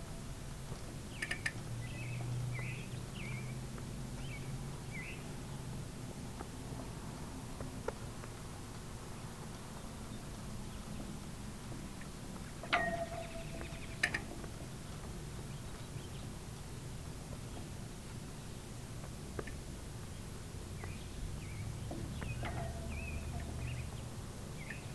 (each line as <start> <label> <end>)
12.6 ropes bang against the poles 14.5